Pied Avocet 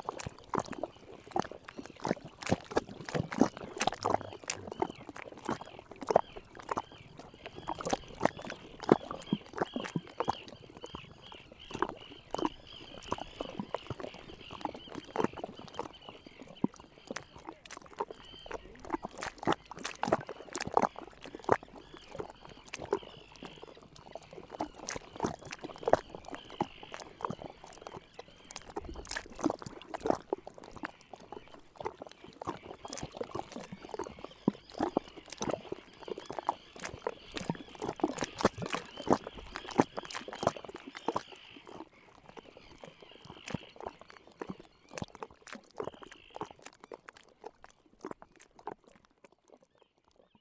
1.9 6.8

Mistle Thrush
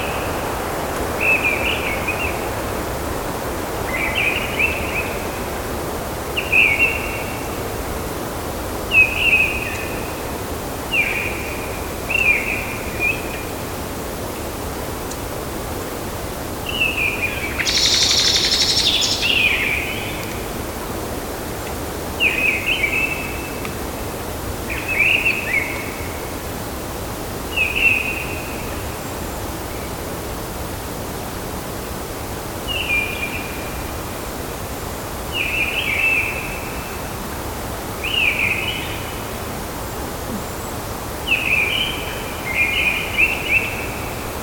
6.4 7.6, 8.9 10.2, 10.9 13.6, 16.6 20.4, 27.5 29.9, 38.0 39.3, 40.2 44.3

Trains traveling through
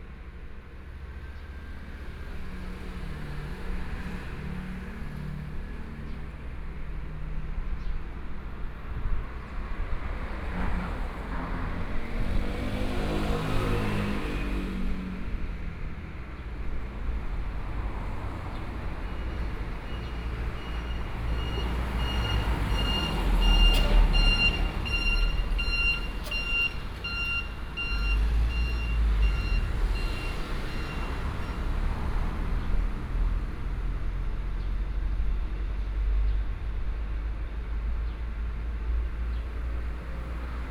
16.6 32.5

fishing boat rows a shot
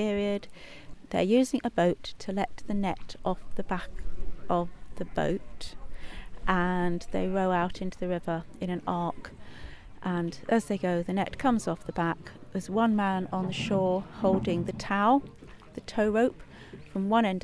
12.8 17.4

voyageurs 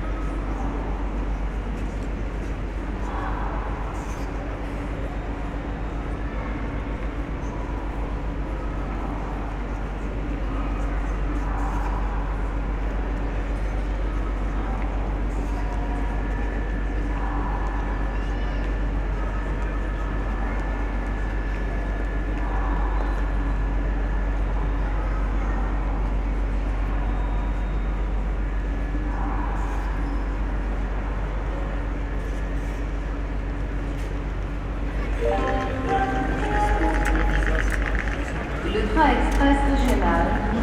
34.8 40.6

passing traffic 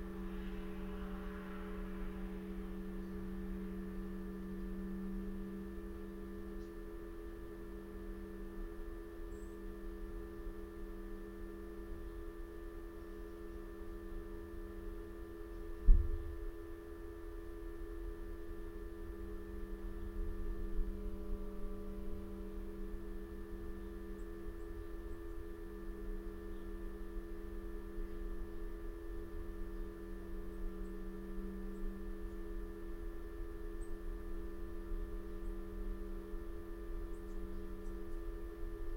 0.0 4.0

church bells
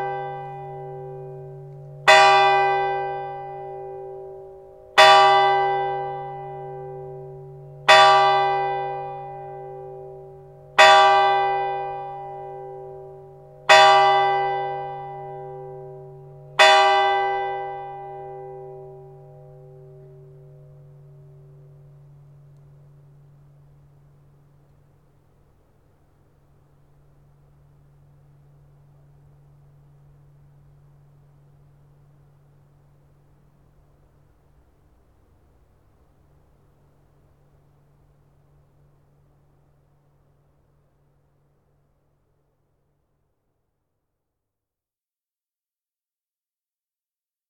0.0 24.5

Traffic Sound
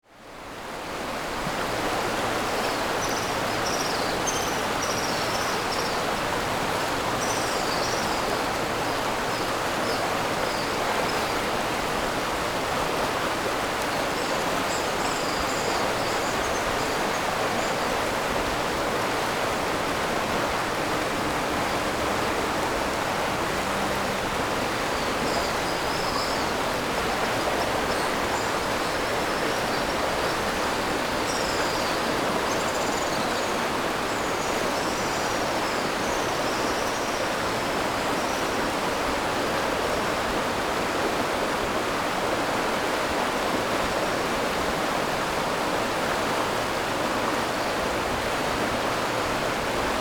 18.9 27.2

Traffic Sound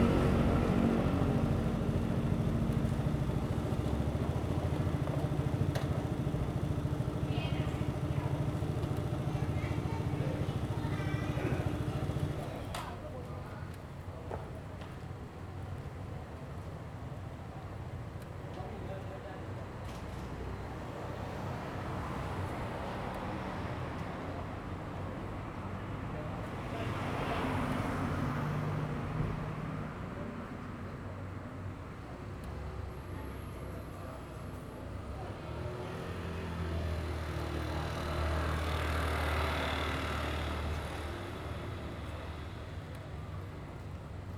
0.0 13.2

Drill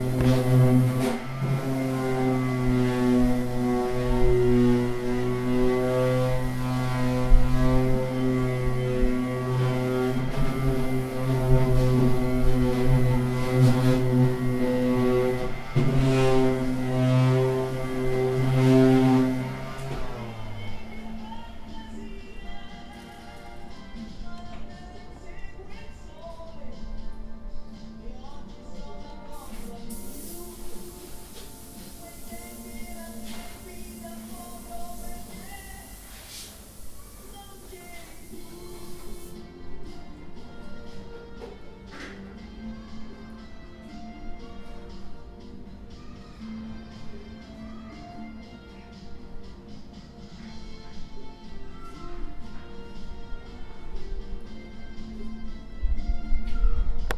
29.4 39.4

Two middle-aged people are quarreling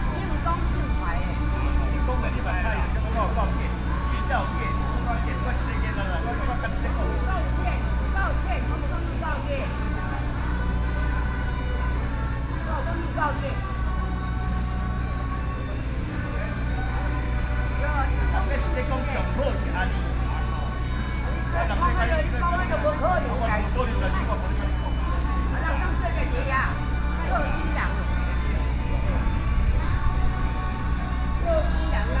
15.6 29.4

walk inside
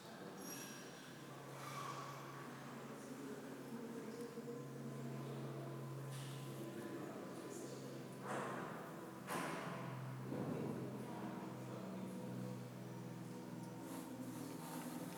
13.7 15.1

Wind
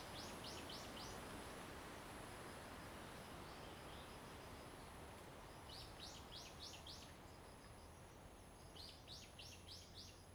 3.1 10.3

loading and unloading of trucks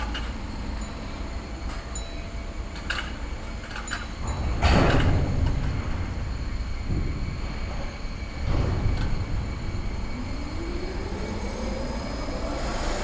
0.0 10.1

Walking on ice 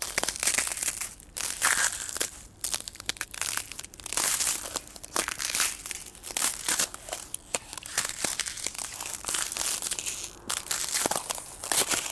3.0 12.1

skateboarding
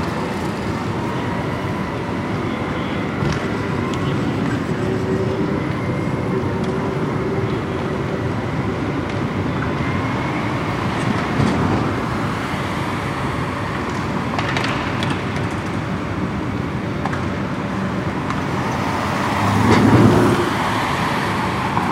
13.7 16.0

